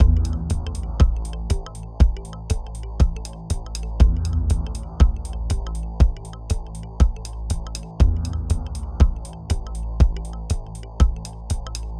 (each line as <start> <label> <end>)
0.0 viscous, low-frequency, minimal techno loop 11.9